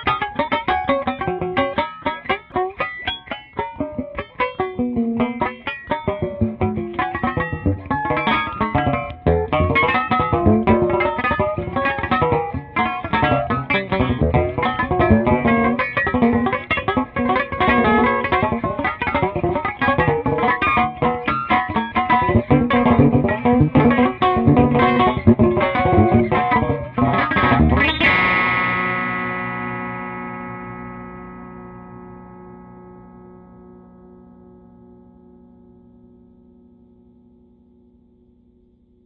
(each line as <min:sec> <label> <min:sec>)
0:00.0 prepared guitar 0:38.7